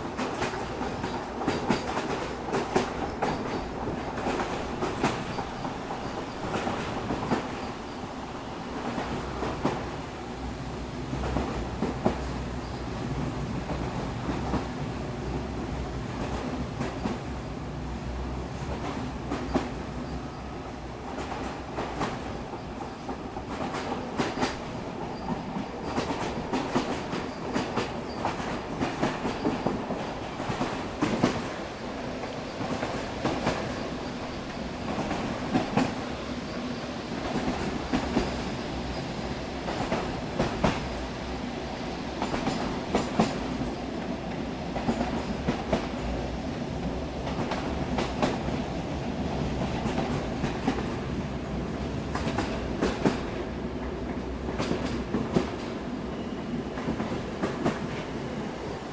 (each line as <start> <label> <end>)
0.0 Train 58.9